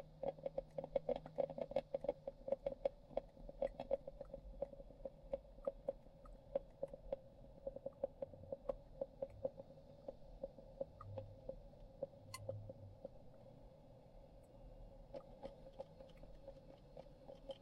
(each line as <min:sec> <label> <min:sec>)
0:00.0 coffee maker brewing full brew 0:17.6